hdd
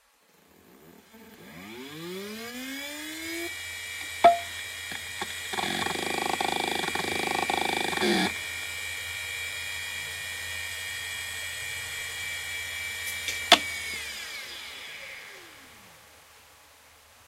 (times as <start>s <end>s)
4.0s 9.1s